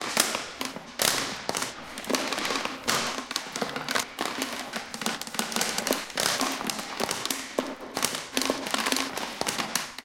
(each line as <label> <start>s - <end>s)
plastic bottle being crushed 0.0s - 10.0s